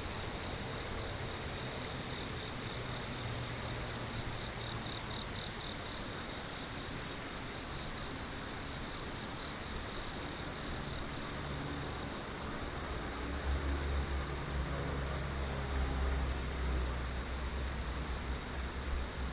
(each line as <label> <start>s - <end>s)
Cicadas 0.0s - 19.3s